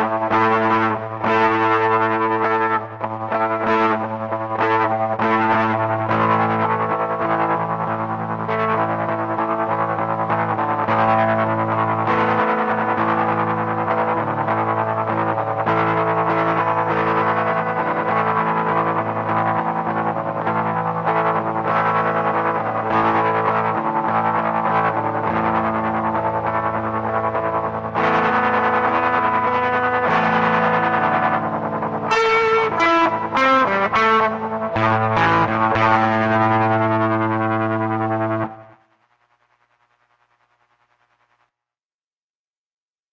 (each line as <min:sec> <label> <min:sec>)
0:00.0 rhythm guitar with tremolo effect 0:39.0